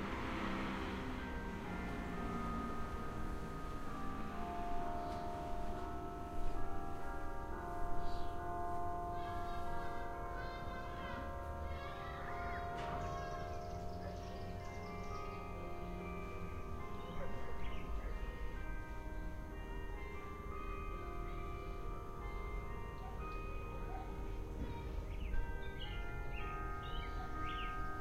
cars 0:00.0 - 0:07.1
Church bells 0:00.0 - 0:28.0
people 0:09.1 - 0:16.2

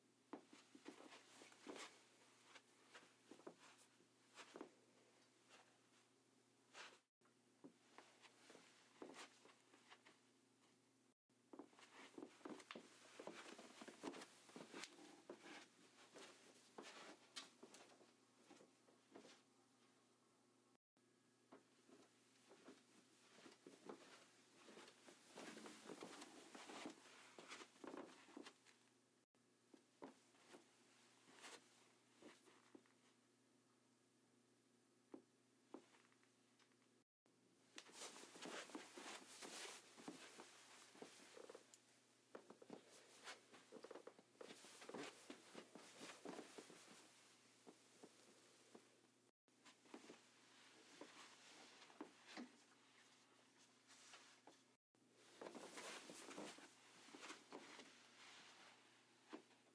Footsteps, Walking, Socks on Carpet 0:00.3 - 0:06.1
Footsteps, Walking, Socks on Carpet 0:06.7 - 0:10.8
Footsteps, Walking, Socks on Carpet 0:11.5 - 0:20.0
Footsteps, Walking, Socks on Carpet 0:21.5 - 0:28.9
Footsteps, Walking, Socks on Carpet 0:29.7 - 0:33.0
Footsteps, Walking, Socks on Carpet 0:35.1 - 0:36.8
Footsteps, Walking, Socks on Carpet 0:37.7 - 0:48.9
Footsteps, Walking, Socks on Carpet 0:49.6 - 0:59.7

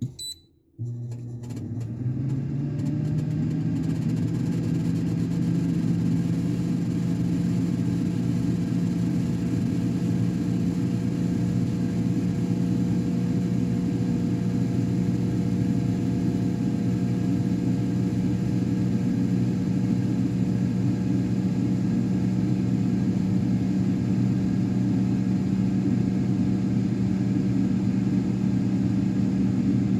three beeps 0:00.0 - 0:00.5
air fryer pressing with beep 0:00.0 - 0:01.8
air fryer 0:00.0 - 0:29.9

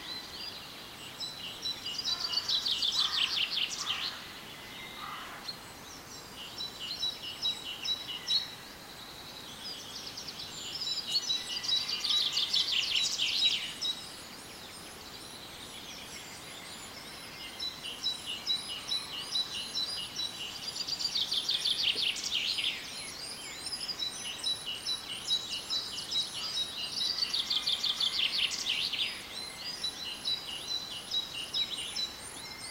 dawn chorus 0:01.0 - 0:09.1

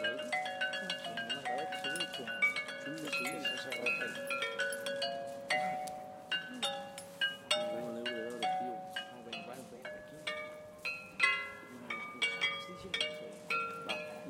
Xylophone played in the distance by two musicians 0:00.0 - 0:14.2

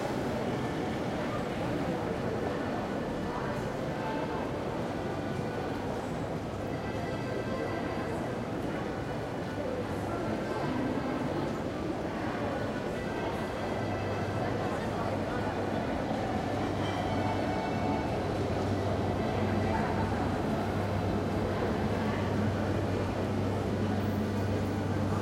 People can be heard walking and talking 0:00.0 - 0:25.2
trams 0:00.0 - 0:25.2

